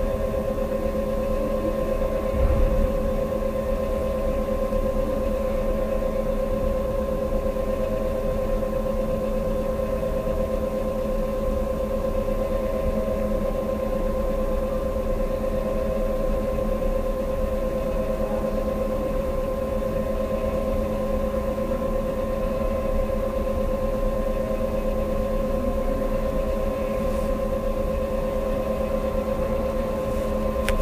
hum 0.0 - 8.6
hum 21.6 - 30.8

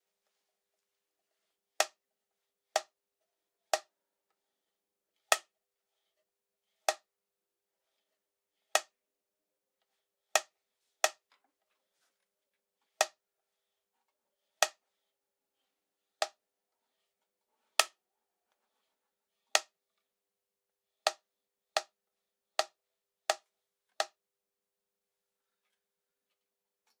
Slate board clapping 1.8 - 2.0
Slate board clapping 6.9 - 7.1

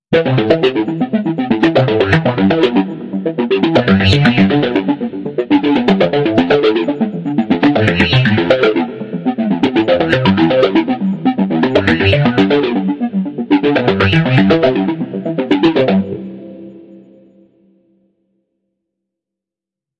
arpeggio 0.1 - 17.1

